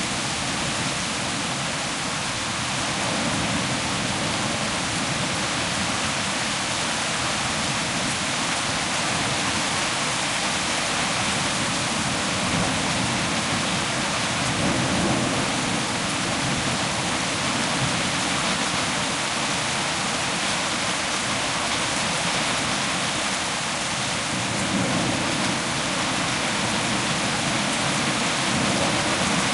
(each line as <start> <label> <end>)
0.0 powerful rain 29.5
7.0 hailstorm 23.3
24.3 hailstorm 29.5